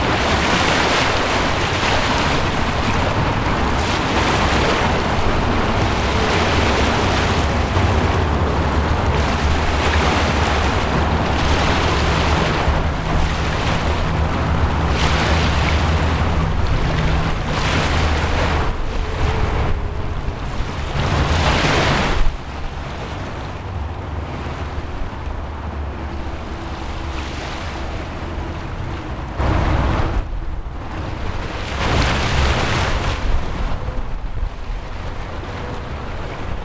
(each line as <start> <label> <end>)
0.0 motorway 36.6
0.0 waves 36.6